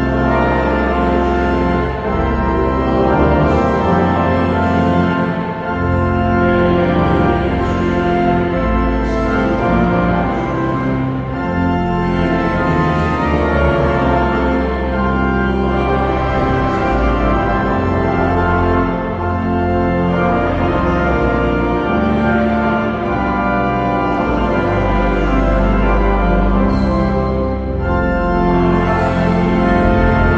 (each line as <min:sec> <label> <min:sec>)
0:00.0 organ 0:30.3